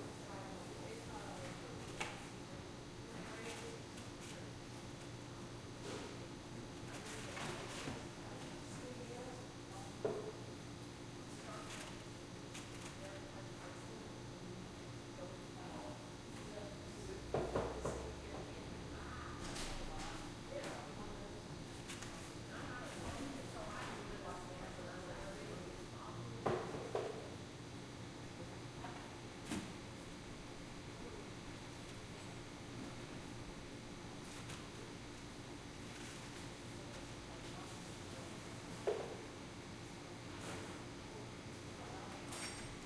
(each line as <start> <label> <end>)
0.0 refrigerator 27.8
28.4 refrigerator 42.8